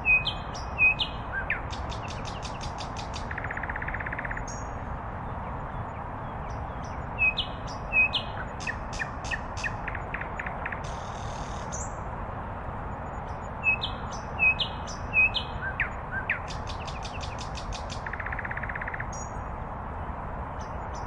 sweet nightingale's song 0.0 - 4.8
Distant road hum 0.0 - 21.0
sweet nightingale's song 5.4 - 12.0
sweet nightingale's song 13.0 - 19.5

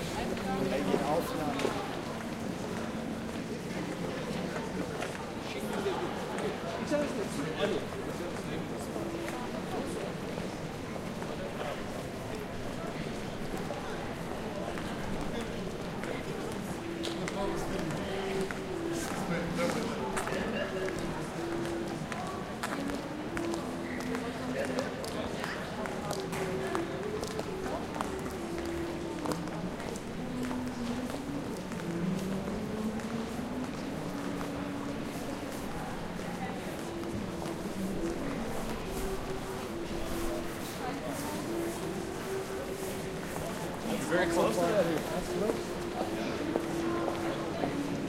people chatting in several languages 0.0 - 48.0

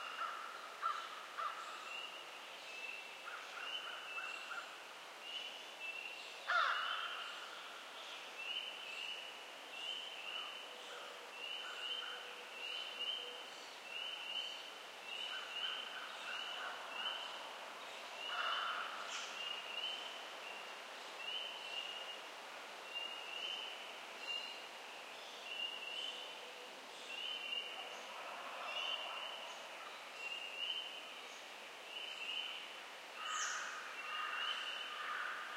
Woodland birds 0.0 - 35.5
insects 0.0 - 35.5
sporadic crow calls 0.1 - 1.7
sporadic crow calls 6.5 - 7.3
sporadic crow calls 18.3 - 19.3
sporadic crow calls 33.2 - 35.5

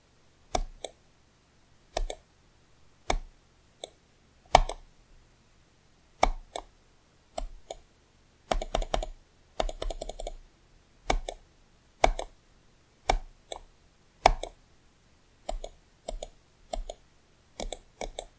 Mouse Clicks 0.5 - 1.0
Mouse Clicks 1.9 - 2.2
Mouse Clicks 3.0 - 4.8
Mouse Clicks 6.2 - 6.7
Mouse Clicks 7.4 - 7.8
Mouse Clicks 8.5 - 10.4
Mouse Clicks 11.1 - 11.4
Mouse Clicks 12.0 - 12.4
Mouse Clicks 13.1 - 14.6
Mouse Clicks 15.4 - 17.0
Mouse Clicks 17.6 - 18.3

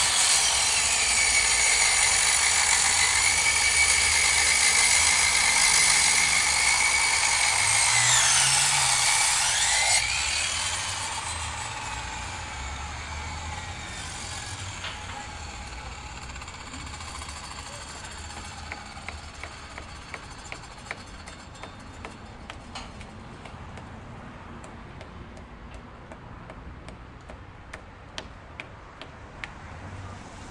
hand circular saw 0.0 - 23.2
Workers do construction work 0.0 - 30.5

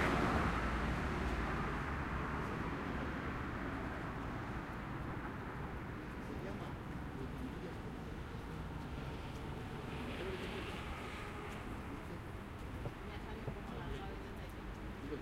cars 0.0 - 15.2
motorbikes 0.0 - 15.2
people walking 6.4 - 15.2
people chatting 11.8 - 15.2

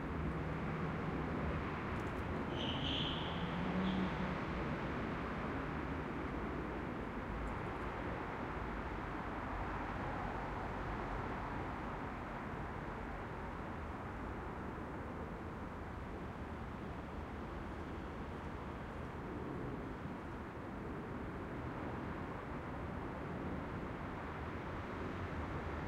Distant traffic noise 0.0 - 21.0

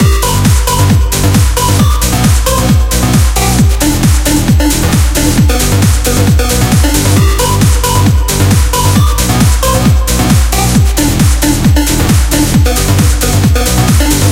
modern sounding dance music 0.0 - 14.3

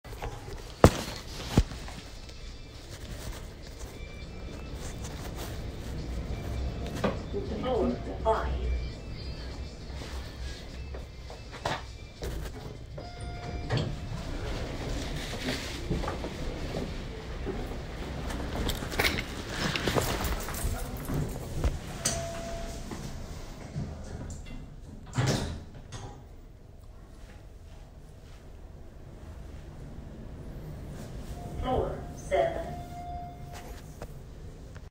Elevator 0.1 - 34.9

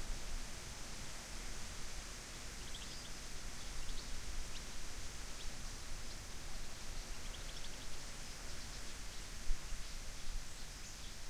wind 0.0 - 11.2

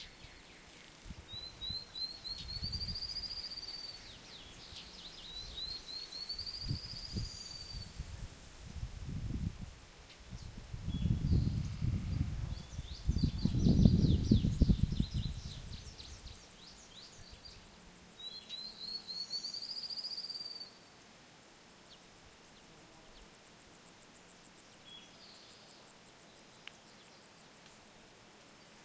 insects 0.0 - 28.8
rush of wind 0.9 - 16.4

